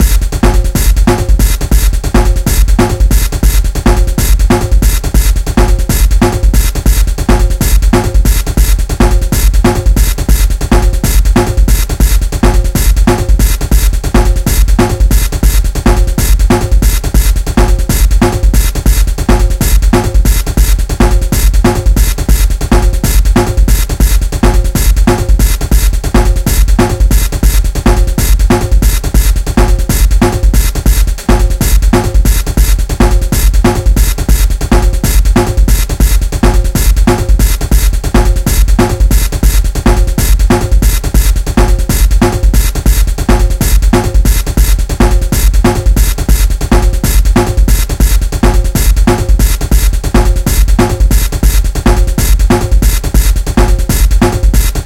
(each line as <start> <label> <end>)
0.0 hard snare 54.8